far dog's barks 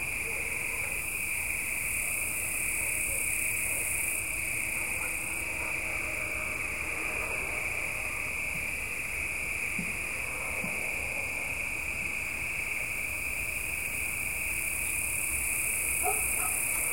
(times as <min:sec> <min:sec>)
0:00.2 0:01.1, 0:04.8 0:05.9, 0:16.0 0:16.9